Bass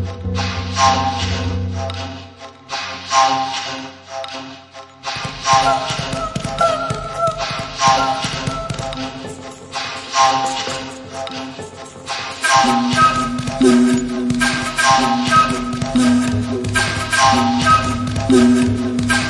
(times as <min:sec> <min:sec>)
0:00.0 0:02.3